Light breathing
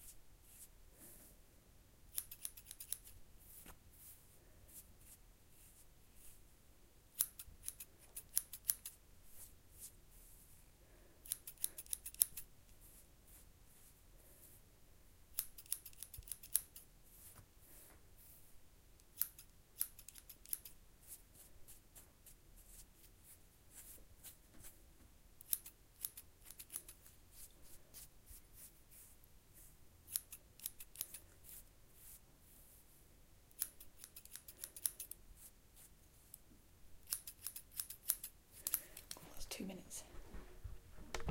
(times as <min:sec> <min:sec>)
0:38.5 0:39.4